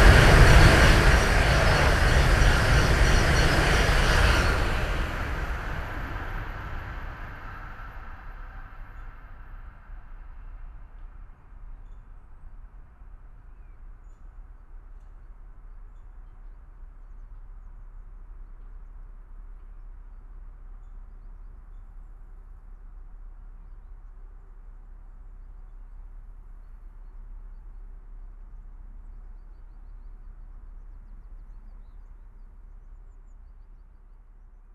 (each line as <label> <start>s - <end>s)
ICE train passing-by at high speed 0.0s - 9.0s